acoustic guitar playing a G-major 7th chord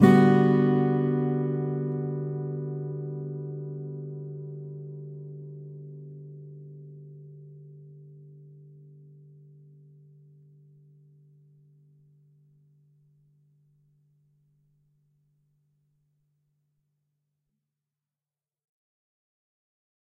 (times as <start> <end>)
0.0 12.1